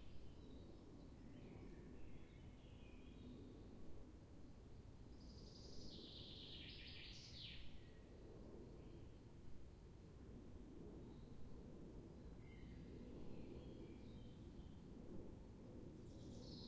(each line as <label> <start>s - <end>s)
airplanes 0.0s - 6.0s
airplanes 7.7s - 16.6s